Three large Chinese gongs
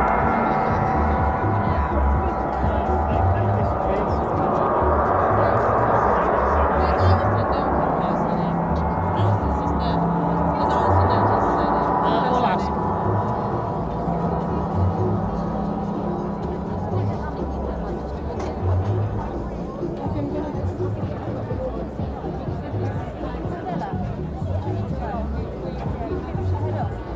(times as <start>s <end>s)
0.0s 18.4s